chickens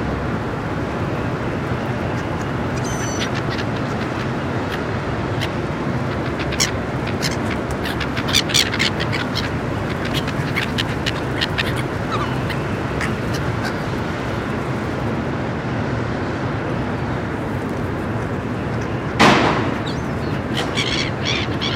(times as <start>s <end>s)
1.8s 14.7s